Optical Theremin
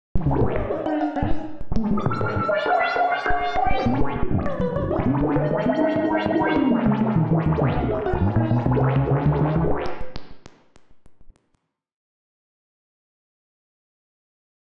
0.2 10.2

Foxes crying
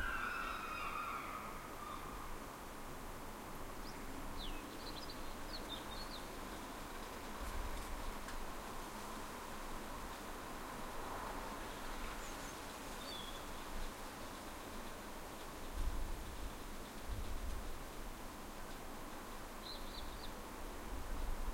0.0 2.4

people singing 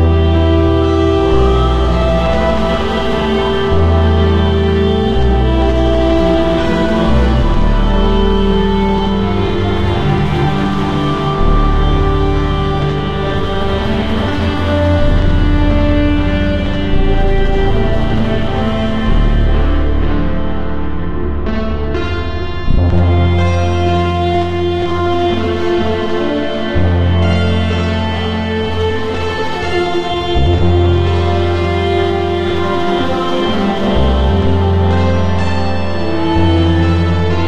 25.2 37.4

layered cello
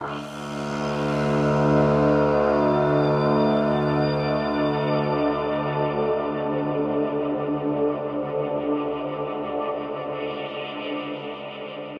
0.0 6.6

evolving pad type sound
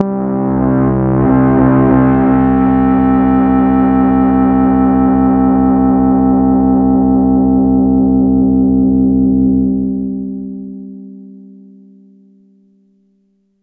0.0 7.2

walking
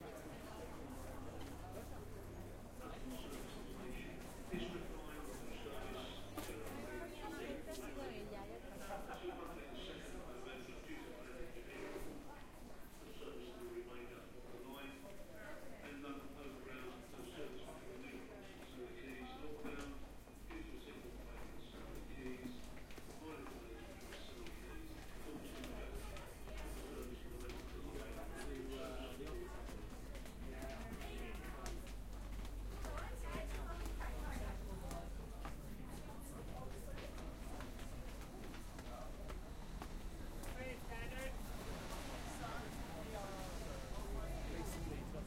22.6 42.0

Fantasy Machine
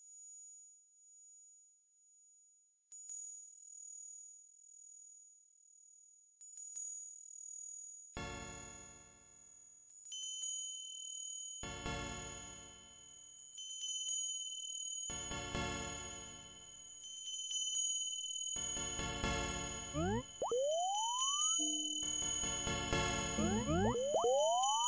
20.0 22.6, 23.2 24.8

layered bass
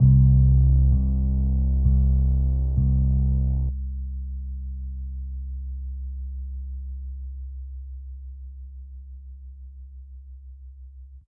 0.0 6.9

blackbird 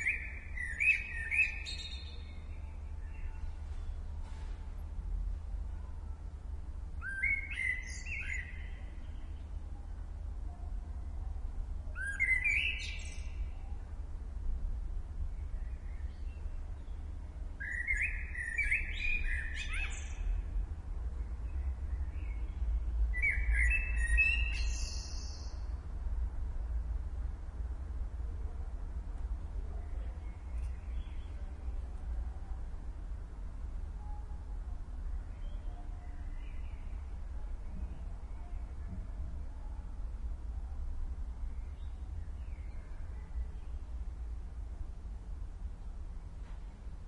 7.0 9.3, 12.0 13.7, 17.6 20.4, 21.5 25.6

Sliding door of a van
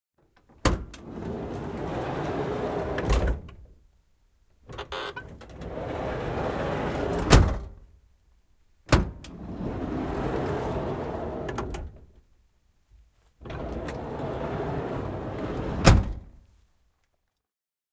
0.6 3.6, 4.7 7.8, 8.9 12.2, 13.4 16.3

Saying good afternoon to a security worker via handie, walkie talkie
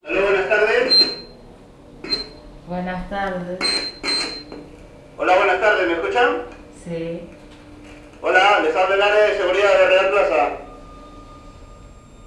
0.1 1.3

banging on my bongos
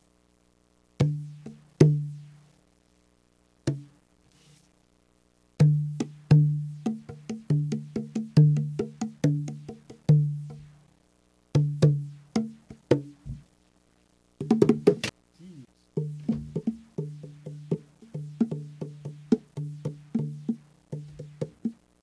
1.0 2.2, 3.7 3.9, 5.6 10.7, 11.6 13.4, 14.4 15.1, 16.0 21.8

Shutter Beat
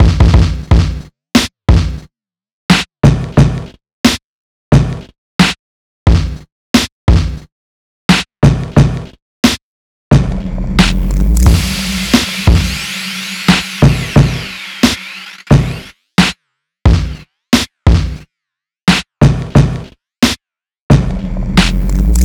10.8 15.9, 21.6 22.2

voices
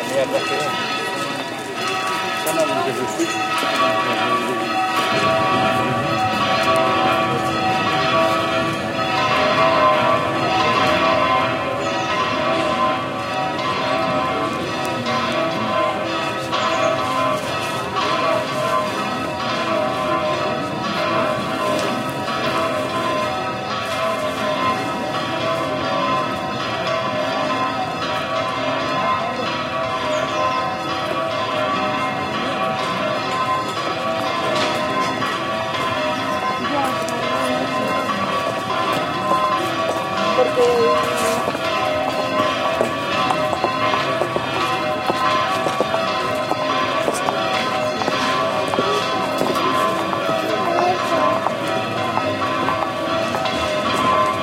36.1 42.4, 45.8 53.8

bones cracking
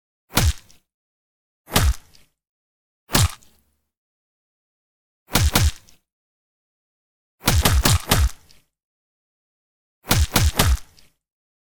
3.1 3.5, 7.5 8.6

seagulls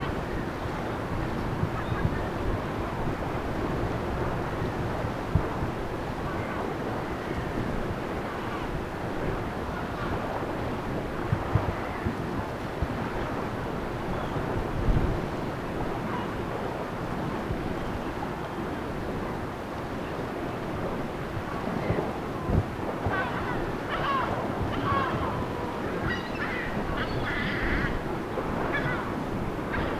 23.1 28.0, 28.6 29.9

